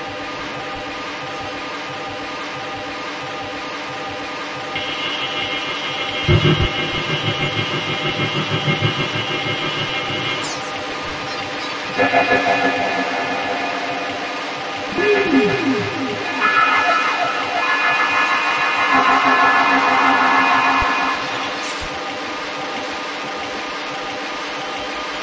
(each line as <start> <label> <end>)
4.8 metallic scream 22.0
4.8 metallic noise drone 23.2